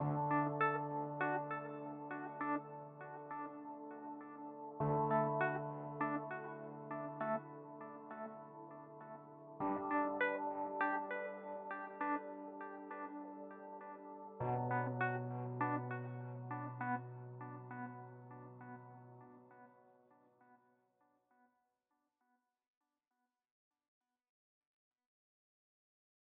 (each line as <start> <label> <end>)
0.0 rhodes 19.8
0.0 piano 19.9